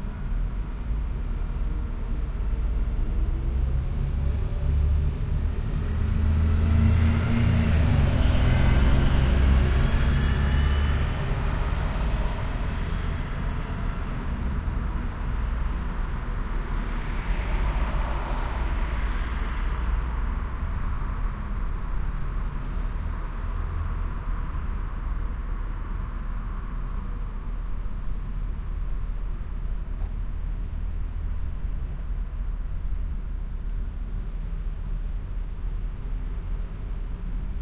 0.0s traffic 37.6s
0.3s three buses departure 23.4s

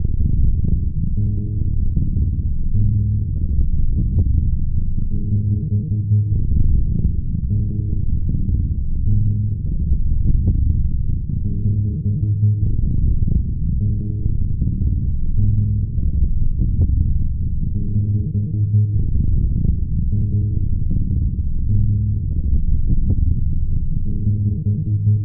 9.8s Drum 11.0s
16.0s Drum 17.3s

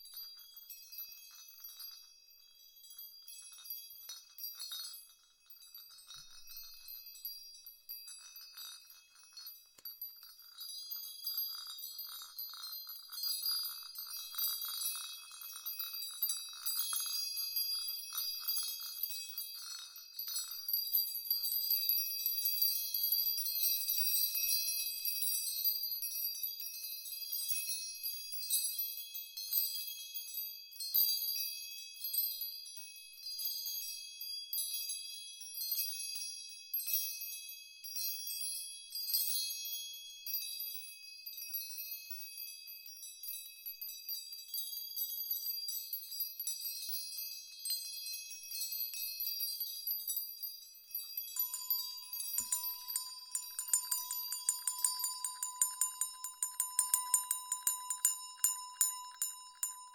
50.9s ensemble of bells 59.9s

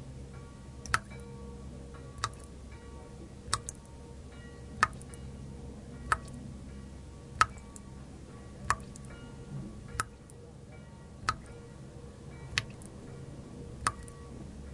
0.0s churchbells from far away 14.7s
0.8s Waterdrops indoor 1.2s
2.1s Waterdrops indoor 2.6s
3.4s Waterdrops indoor 4.0s
4.8s Waterdrops indoor 5.2s
6.1s Waterdrops indoor 6.4s
7.3s Waterdrops indoor 7.9s
8.6s Waterdrops indoor 9.1s
9.8s Waterdrops indoor 10.4s
11.2s Waterdrops indoor 11.6s
12.5s Waterdrops indoor 13.0s
13.8s Waterdrops indoor 14.7s

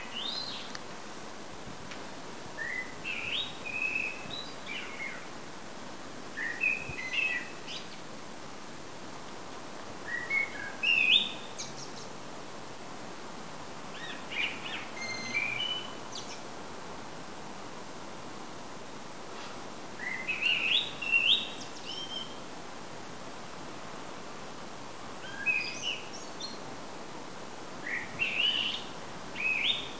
0.0s blackbird singing 0.7s
2.6s blackbird singing 5.2s
6.4s blackbird singing 8.0s
10.1s blackbird singing 12.1s
14.0s blackbird singing 16.4s
20.0s blackbird singing 22.4s
25.2s blackbird singing 26.6s
27.8s blackbird singing 29.9s

